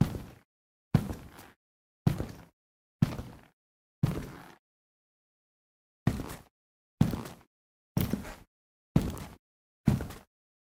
Footsteps Boots Tile 0.0 - 0.4
Footsteps Boots Tile 1.0 - 4.6
Footsteps Boots Tile 6.1 - 10.3

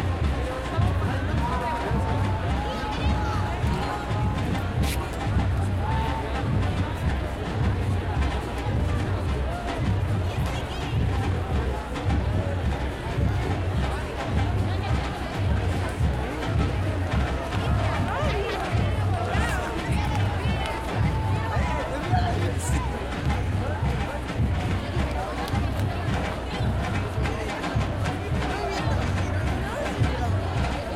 Cánticos de estudiantes 0.0 - 30.9
crowd 0.0 - 30.9

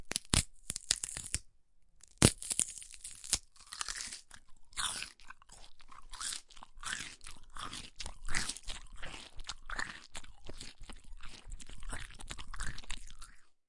Bone breaks 0.0 - 1.4
Celery 0.0 - 1.4
Bone breaks 2.0 - 5.6
Celery 2.0 - 13.4
chew 3.1 - 13.6

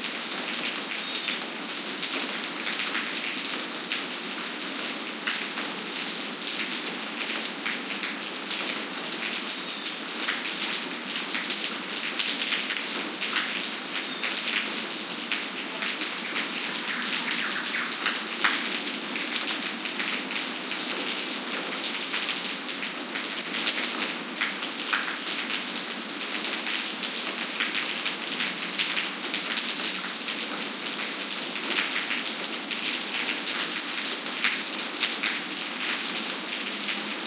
rain on pavement 0.0 - 37.2
bird callings 16.4 - 18.4

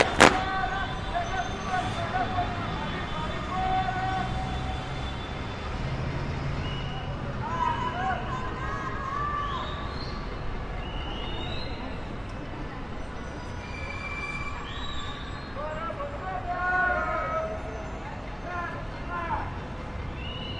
scream at the windows 6.6 - 10.0

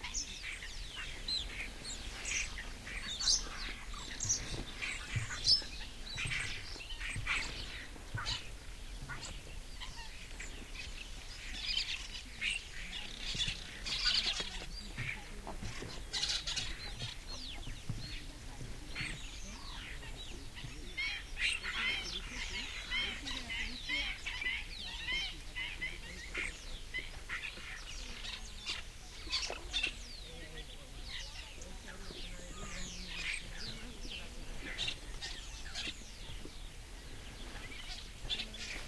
bird calls 0.0 - 38.8

